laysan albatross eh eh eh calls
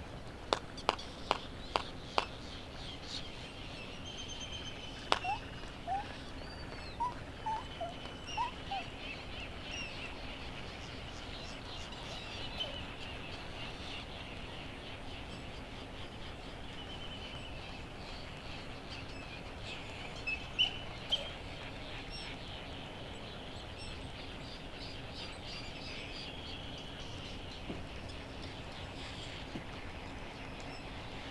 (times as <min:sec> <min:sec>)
0:05.0 0:09.1